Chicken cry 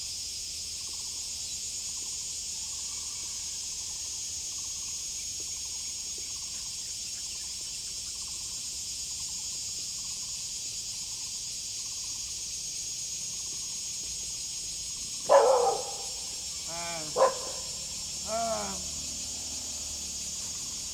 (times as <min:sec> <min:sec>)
0:15.3 0:18.9